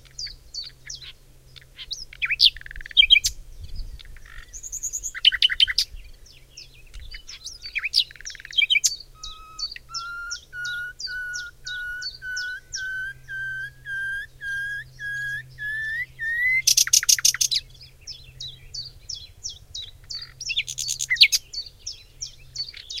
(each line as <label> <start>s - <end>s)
Nightingale song 0.0s - 23.0s